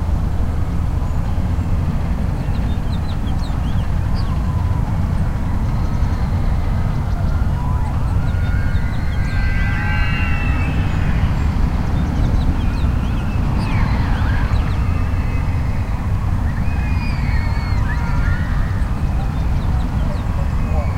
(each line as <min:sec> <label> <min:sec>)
0:00.0 slight breeze 0:20.9
0:00.0 traffic (auto and train) 0:20.9
0:00.9 birdsong 0:20.9
0:06.5 screams 0:20.9